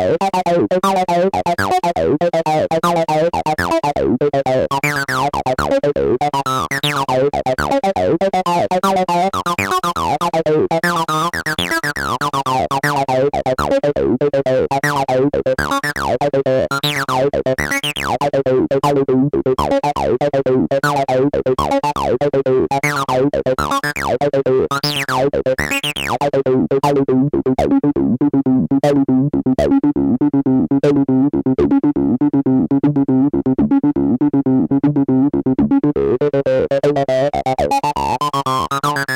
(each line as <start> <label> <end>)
0.0 bassline 39.1